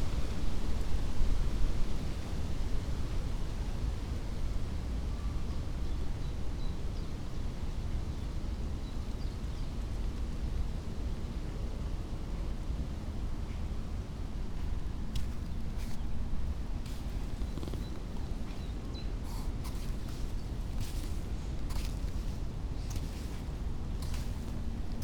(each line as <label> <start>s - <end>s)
river flows quietly 13.4s - 25.0s
clogs on sand 14.6s - 25.0s